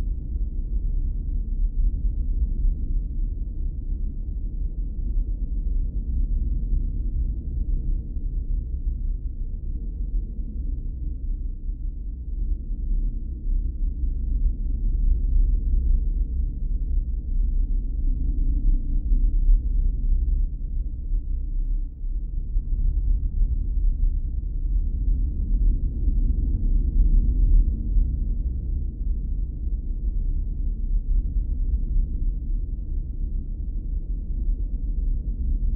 Deep creepy rumble 0:13.4 - 0:35.7

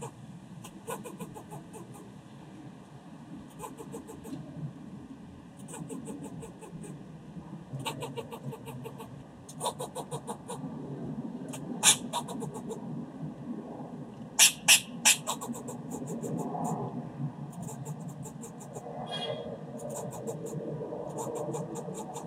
Barking Squirrel 0:00.0 - 0:02.1
Barking Squirrel 0:03.5 - 0:04.4
Barking Squirrel 0:05.6 - 0:07.0
Barking Squirrel 0:07.8 - 0:10.6
Barking Squirrel 0:11.5 - 0:12.8
Barking Squirrel 0:14.4 - 0:16.8
Barking Squirrel 0:17.5 - 0:22.2

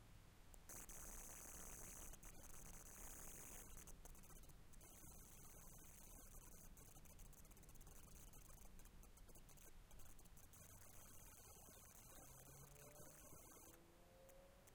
interference 0:00.6 - 0:13.8

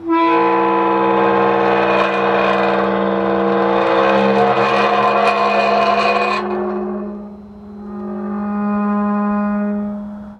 Heavy wrought-iron cemetery gate opening 0:00.0 - 0:08.6

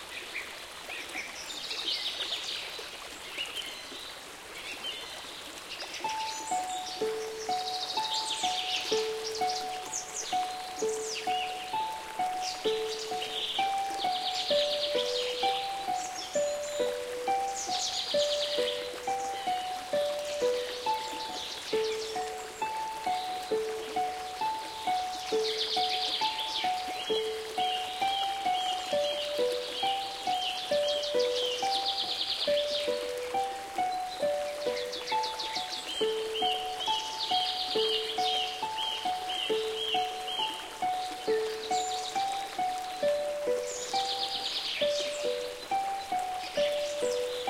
birds 0:00.0 - 0:47.4
creek 0:00.0 - 0:47.4
harp 0:06.0 - 0:47.4
synthesizer 0:06.0 - 0:47.4

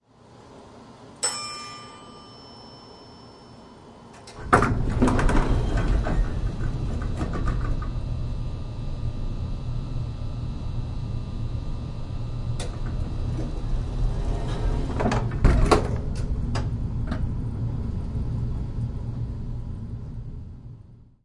Elevator door dings 0:01.2 - 0:09.4

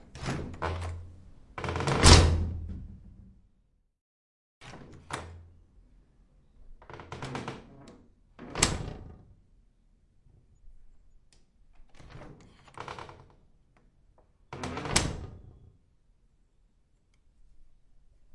door wood old open close creak rattle lock click 0:00.2 - 0:01.0

